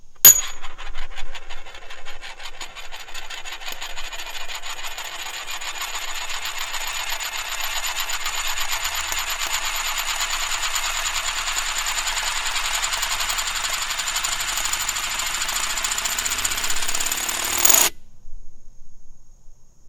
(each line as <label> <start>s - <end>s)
aluminum disc on a glass table 0.0s - 18.0s